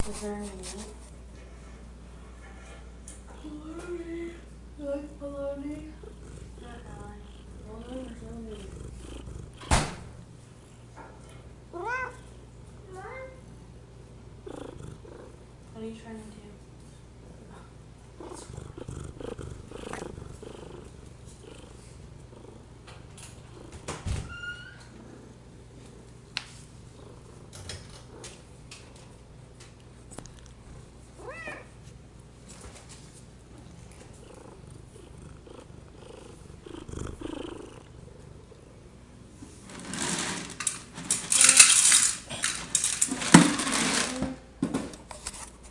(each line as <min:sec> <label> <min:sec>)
0:31.2 cat 0:31.8